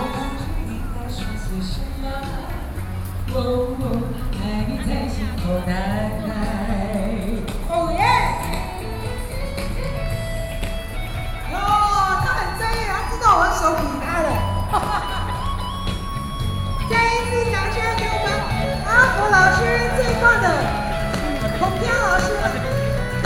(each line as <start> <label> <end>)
0.0 Performances of old songs 23.2